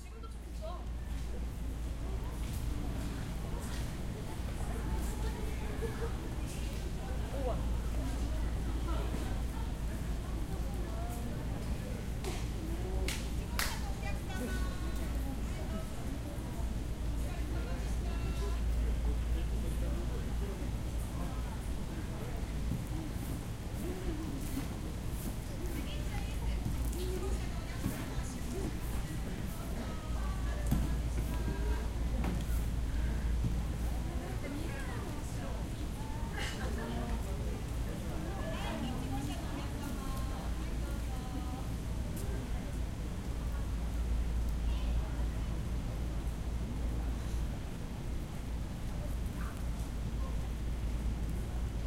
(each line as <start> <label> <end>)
0.0 people 51.8